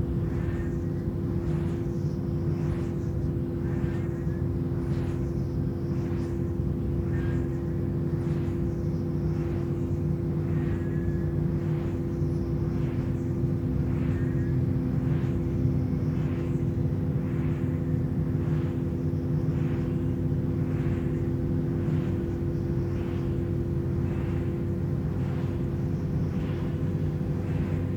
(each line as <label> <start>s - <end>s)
Whistling windgenerator 0.0s - 27.9s
transformer hum 12.6s - 27.9s